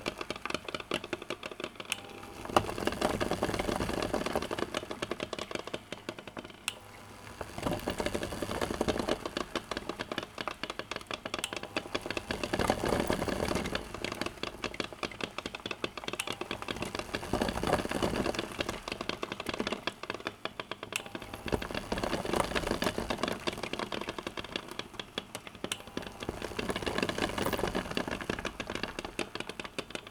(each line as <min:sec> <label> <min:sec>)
0:00.0 cooking eggs on an inductive stove 0:30.1